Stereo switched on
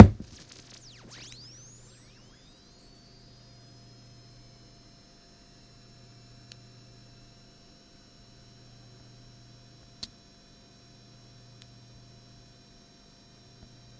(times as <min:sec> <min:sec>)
0:00.0 0:03.7